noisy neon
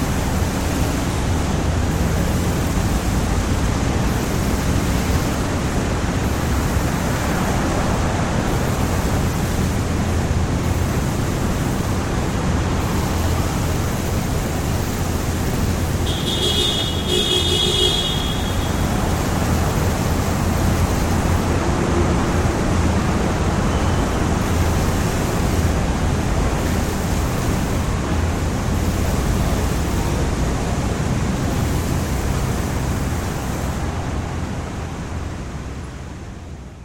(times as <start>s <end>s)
0.0s 21.6s